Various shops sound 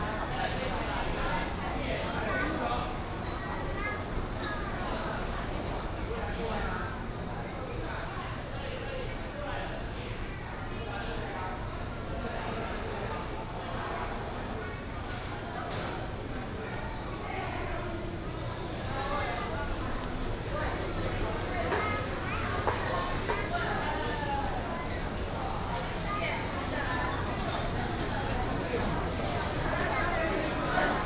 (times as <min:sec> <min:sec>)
0:19.6 0:31.0